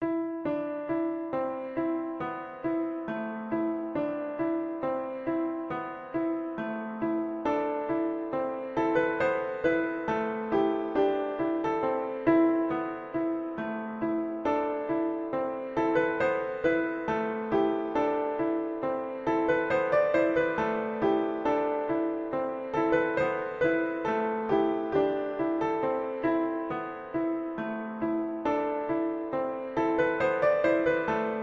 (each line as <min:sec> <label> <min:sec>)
0:00.0 Piano 0:31.4